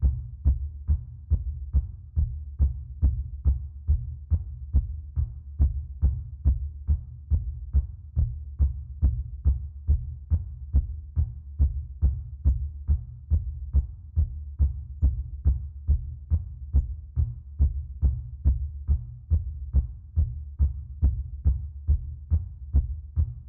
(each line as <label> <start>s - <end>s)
heartbeat 0.0s - 23.4s